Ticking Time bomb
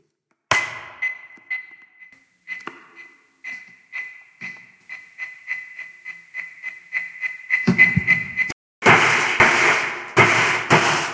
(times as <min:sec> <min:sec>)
0:00.8 0:08.6